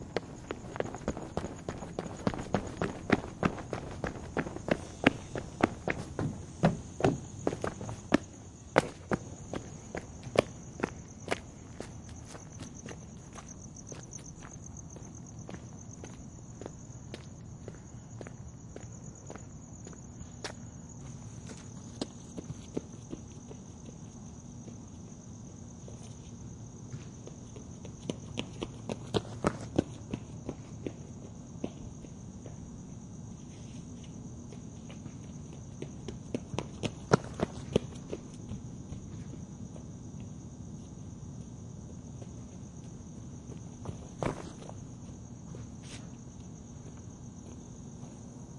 Running Footsteps with rubber shoes 0.0 - 26.1
Running Footsteps with rubber shoes 34.4 - 40.5

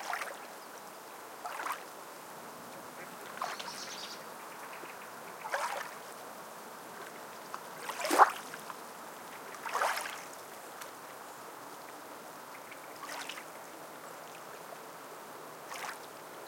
ducks in the water 0.0 - 16.4
waves 0.0 - 16.4
crows in the trees 2.3 - 15.7

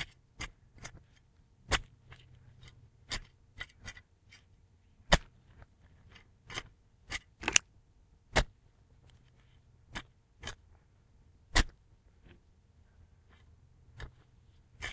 Digging with a shovel 14.0 - 14.9

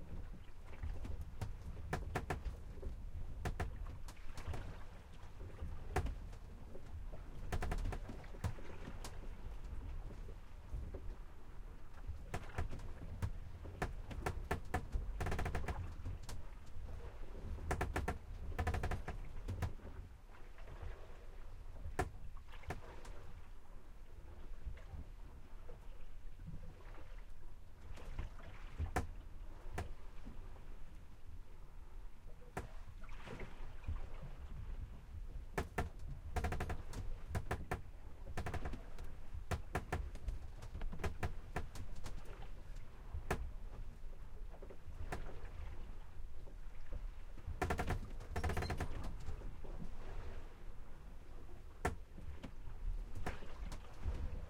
Sailboat Sailing Interior 0.0 - 54.4
water 0.0 - 54.4
creak 1.4 - 4.7
creak 7.4 - 9.0
creak 12.3 - 16.4
creak 17.6 - 19.9
creak 35.6 - 42.4
creak 47.6 - 49.4

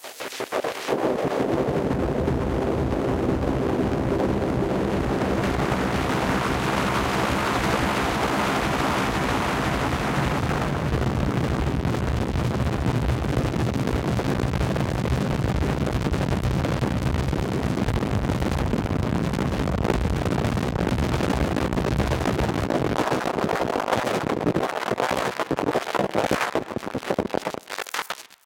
Noise 0.0 - 28.4

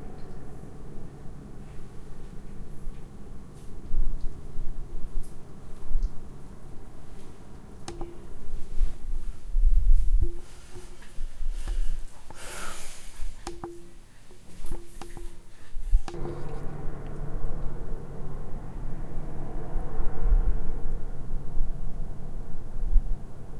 Air Tone 7.9 - 8.8
Air Tone 10.2 - 22.4

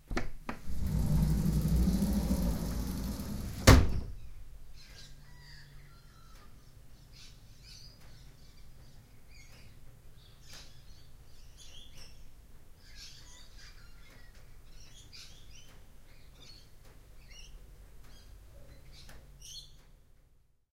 Opening a sliding window 0.1 - 4.2

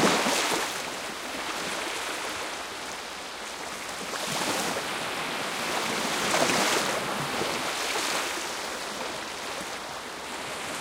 waves 0.0 - 10.8

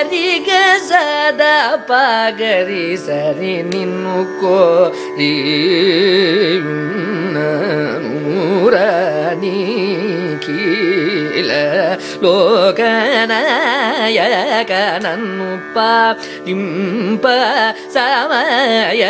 Carnatic vocalist 0.0 - 19.0

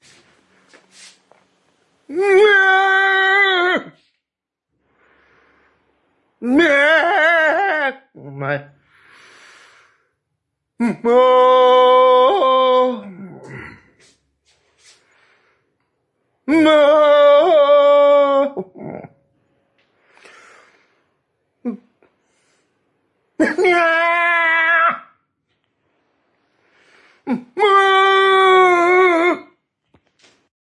Old man scream 2.1 - 4.0
Old man scream 6.4 - 8.1
Old man scream 10.8 - 13.6
Old man scream 16.5 - 19.1
Old man scream 23.4 - 25.2
Old man scream 27.3 - 29.5

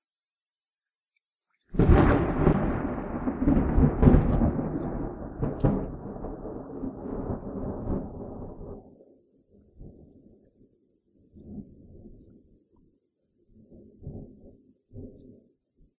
thunder at a medium distance 1.8 - 9.0

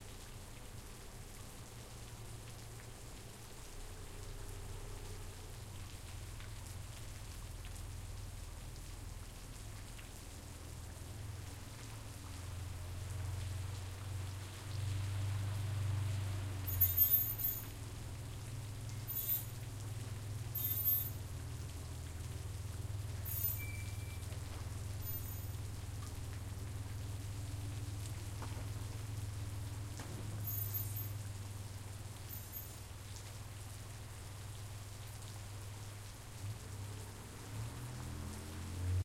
rain 0.0 - 39.0
Brakes squeaking when a vehicle comes to a stop 15.1 - 18.0
Brakes squeaking when a vehicle comes to a stop 18.9 - 19.8
Brakes squeaking when a vehicle comes to a stop 20.4 - 21.5
Brakes squeaking when a vehicle comes to a stop 23.0 - 26.0
Brakes squeaking when a vehicle comes to a stop 29.8 - 33.0

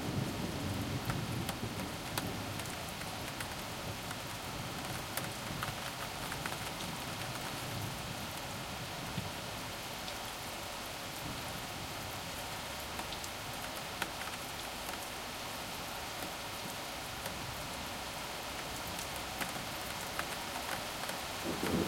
rain 0.0 - 21.8
thunder 21.4 - 21.8

